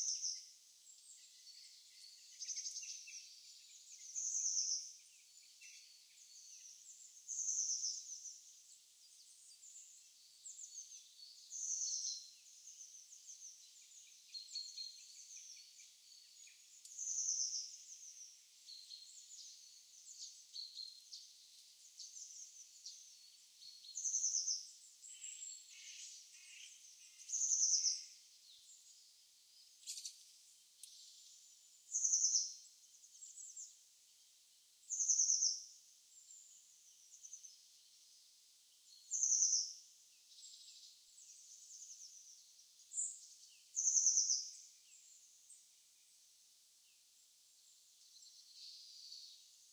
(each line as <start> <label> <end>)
0.0 Birds 49.7